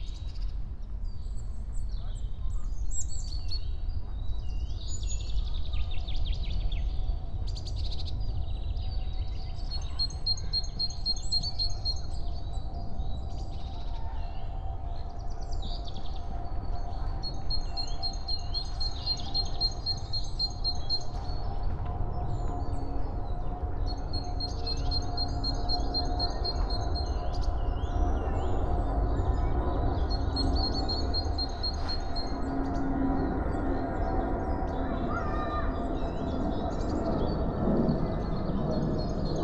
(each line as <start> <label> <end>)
21.1 aircrafts departing 39.4